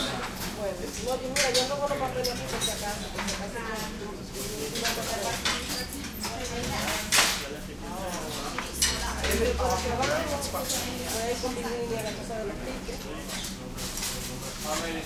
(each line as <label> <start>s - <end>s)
small light walla 0.0s - 15.0s